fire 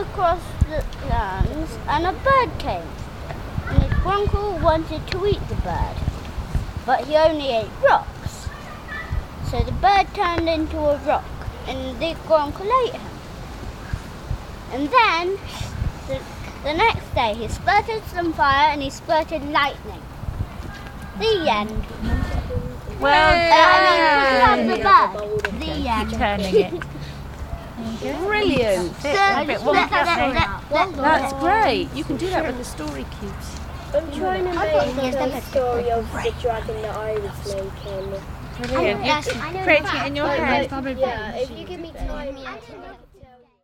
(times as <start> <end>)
2.8 9.5, 12.3 24.4